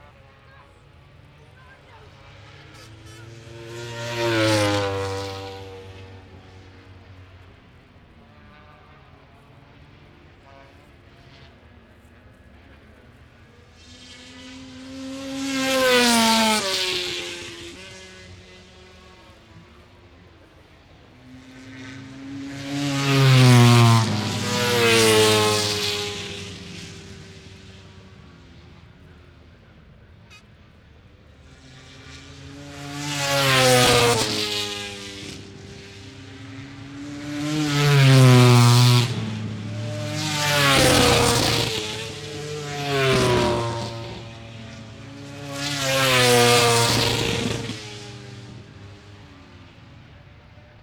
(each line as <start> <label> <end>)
0.0 motorcycle grand prix 50.8